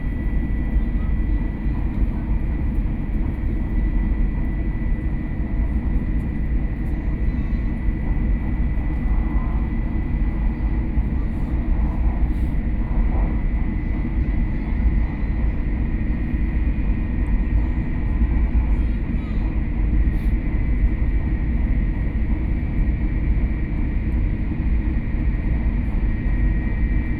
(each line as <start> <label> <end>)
0.0 High-speed rail train 27.1